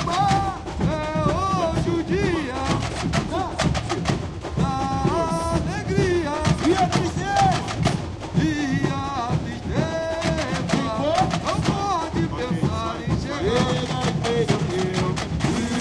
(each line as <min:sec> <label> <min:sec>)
0:00.0 Samba batucada rehearsal 0:15.8